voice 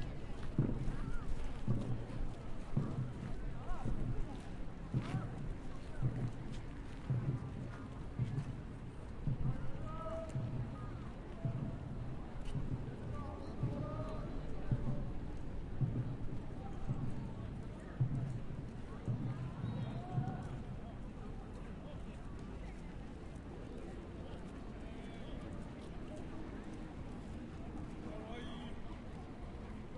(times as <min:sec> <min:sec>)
0:03.5 0:06.3, 0:09.4 0:15.2